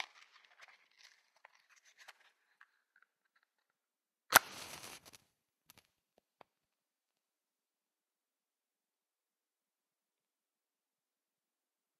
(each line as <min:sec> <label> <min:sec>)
0:04.3 Match - Get and light 0:05.2
0:04.3 match taken from the box 0:05.2